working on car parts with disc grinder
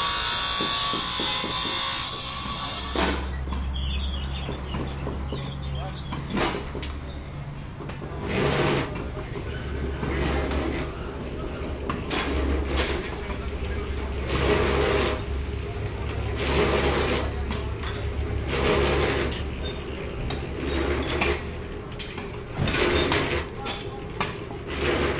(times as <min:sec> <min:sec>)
0:00.0 0:03.4, 0:16.0 0:23.6